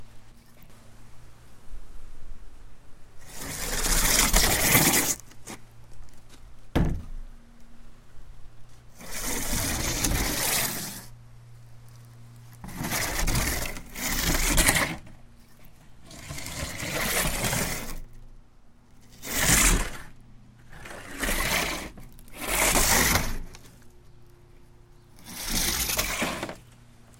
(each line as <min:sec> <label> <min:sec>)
0:03.2 sandy, scraping sound 0:05.6
0:09.0 sandy, scraping sound 0:11.2
0:12.6 sandy, scraping sound 0:18.1
0:19.0 sandy, scraping sound 0:23.8
0:25.2 sandy, scraping sound 0:26.7